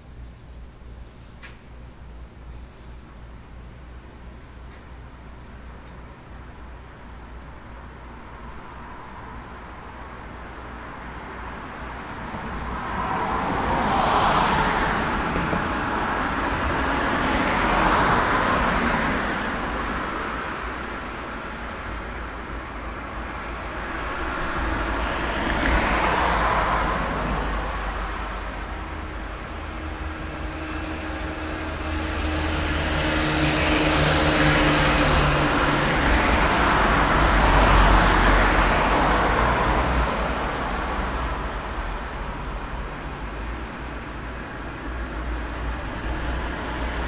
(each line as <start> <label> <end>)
6.6 car 47.0